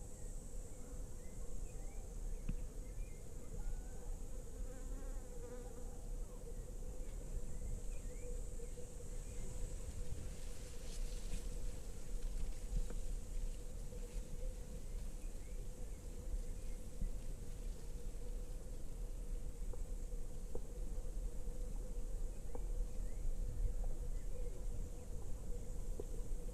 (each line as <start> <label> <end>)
0.0 early cicades 26.5